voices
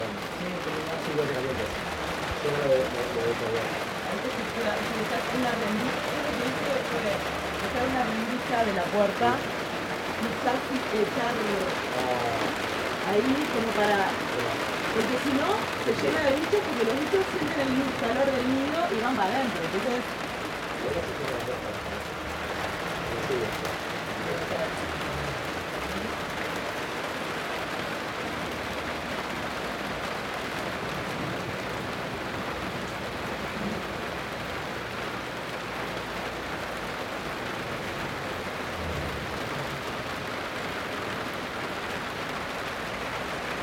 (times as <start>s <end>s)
0.0s 28.8s